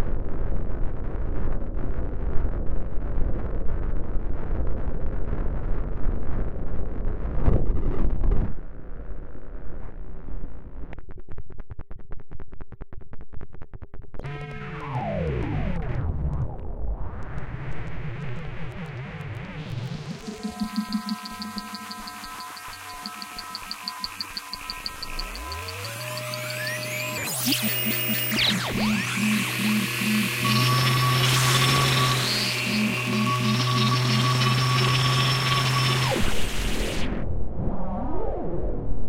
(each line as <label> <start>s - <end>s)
Static 14.2s - 37.2s
Glitch 14.2s - 37.2s
Crackle 15.8s - 37.2s
Beeping 20.0s - 36.9s